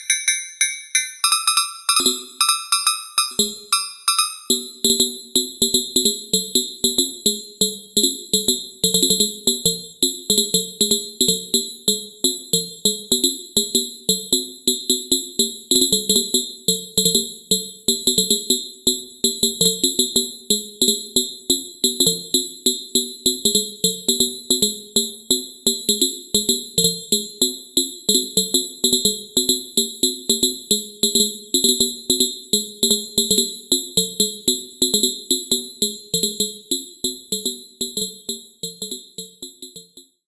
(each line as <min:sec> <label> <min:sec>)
0:00.0 phase modulated mallets 0:04.8